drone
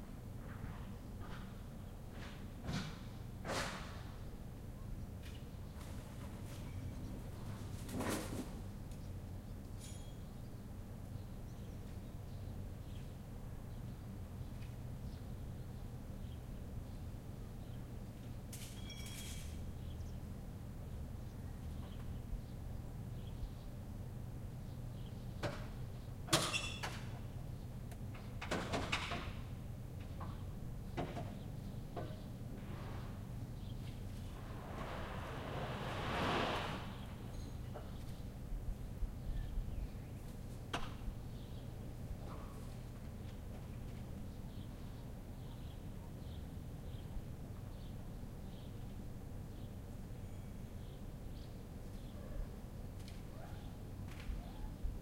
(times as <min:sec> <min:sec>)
0:34.2 0:37.4